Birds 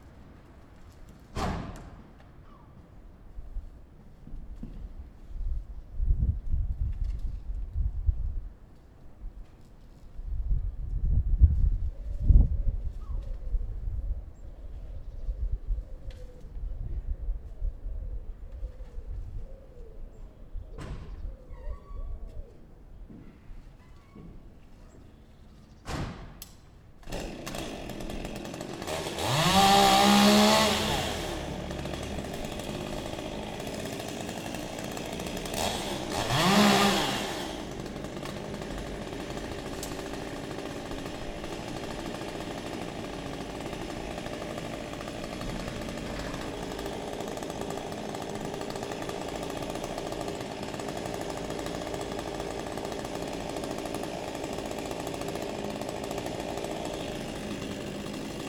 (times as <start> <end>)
11.9 26.1